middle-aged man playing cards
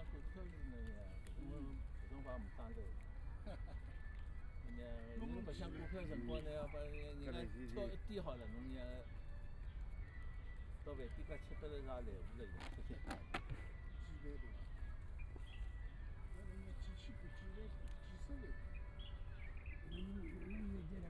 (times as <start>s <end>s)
12.5s 13.7s